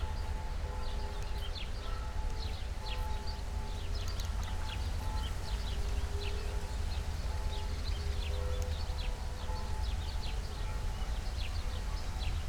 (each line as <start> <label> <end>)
0.0 noon churchbells in the distance 4.0
4.6 noon churchbells in the distance 12.4